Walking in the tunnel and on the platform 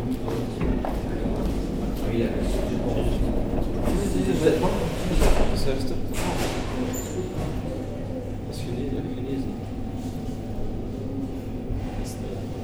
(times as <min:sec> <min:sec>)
0:00.0 0:04.3